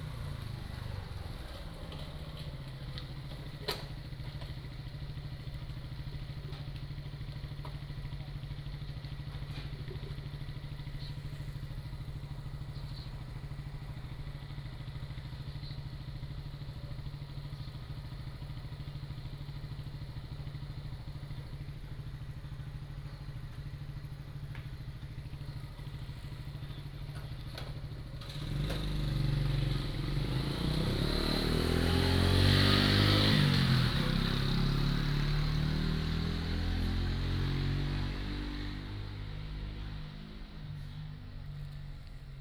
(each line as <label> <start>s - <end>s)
Birdsong 10.8s - 14.0s
Birdsong 25.4s - 27.3s